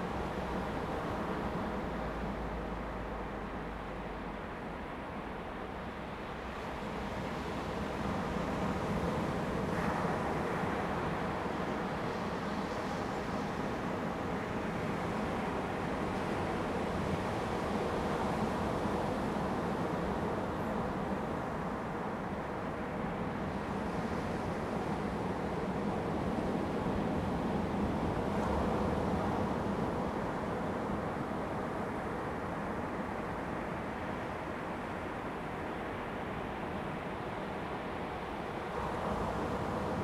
waves 0.0 - 40.0

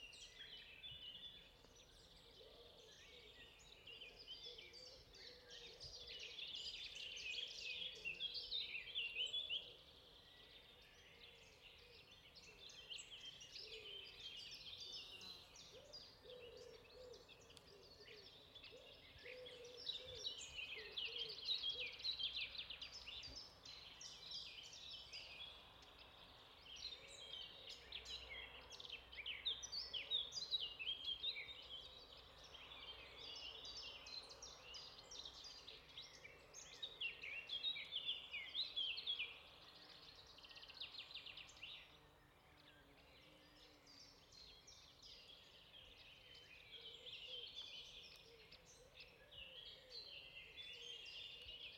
many nice birds 0.0 - 51.7

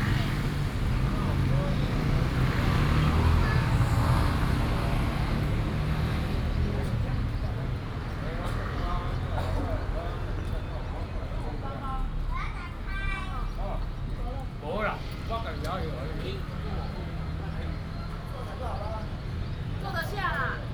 Traffic Sound 0.0 - 20.7

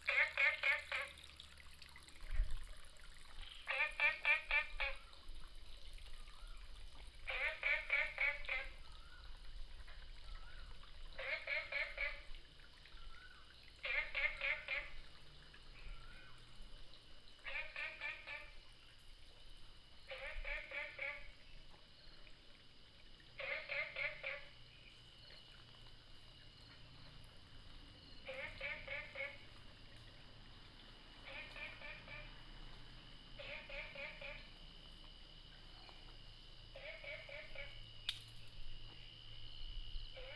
Frogs sound 0.0 - 40.3

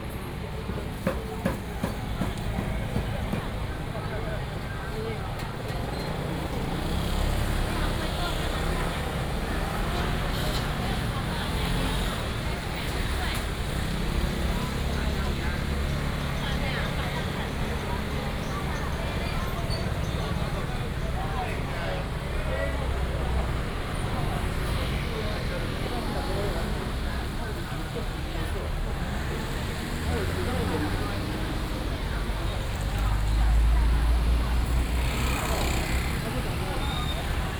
Walking in the traditional market 0.0 - 37.5
vendors peddling 0.0 - 37.5
motorcycles 0.4 - 37.5

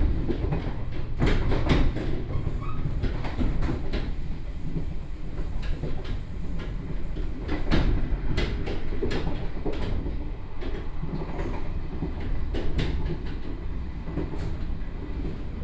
Tze-Chiang Train 0.0 - 15.6

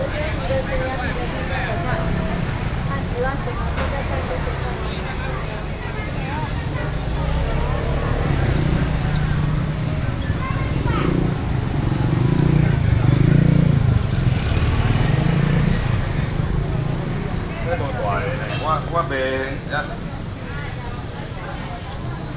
Traffic Sound 0.0 - 22.3
Walking through the traditional market 0.0 - 22.3

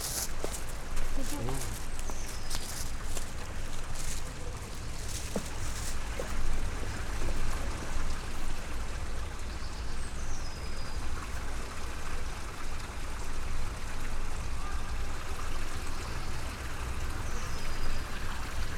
two small dogs 0.0 - 6.4

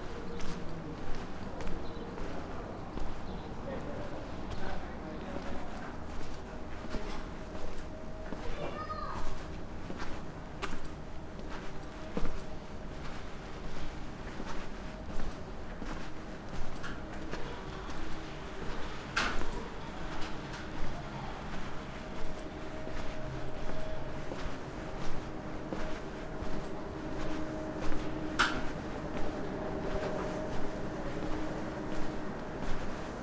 walking through stony streets 0.0 - 33.2
passers-by wearing audible clothing 15.6 - 33.2

